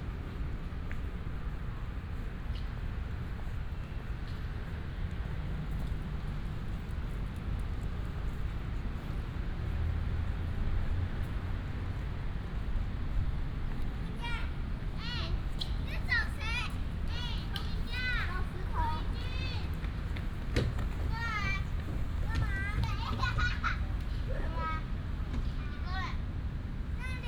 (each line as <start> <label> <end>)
0.0 Traffic sound 27.2
15.0 walking 24.1